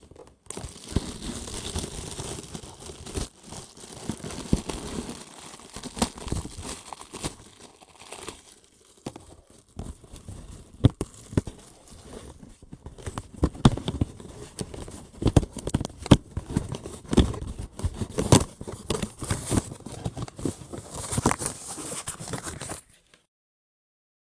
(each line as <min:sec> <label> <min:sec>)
0:09.1 extracting an item out of a small cardboard box 0:23.2